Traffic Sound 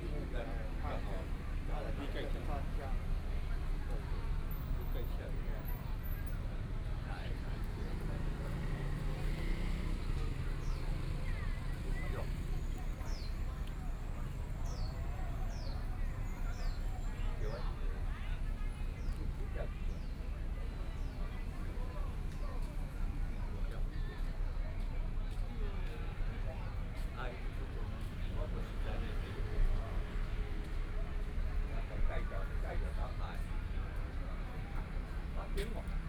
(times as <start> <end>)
7.2 19.5